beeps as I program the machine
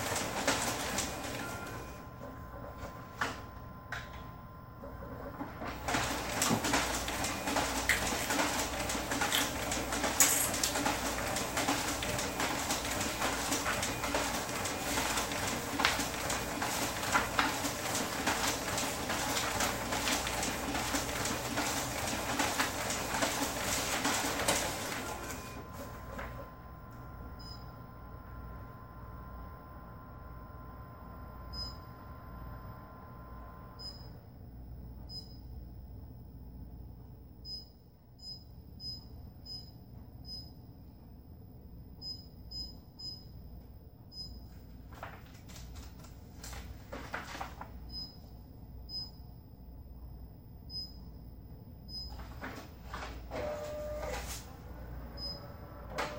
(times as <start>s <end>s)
27.3s 27.9s, 31.5s 31.9s, 48.9s 49.2s, 50.7s 51.0s